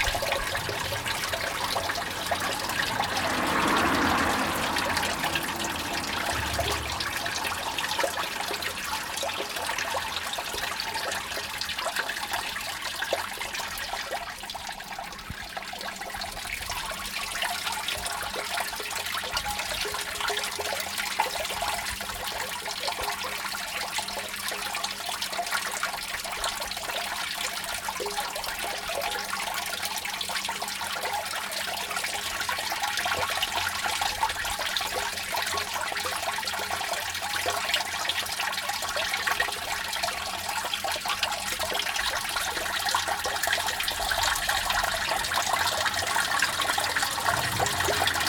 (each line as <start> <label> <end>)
0.0 cars 10.1
0.0 Storm drain 48.2
0.0 rain/water 48.2
43.7 cars 48.2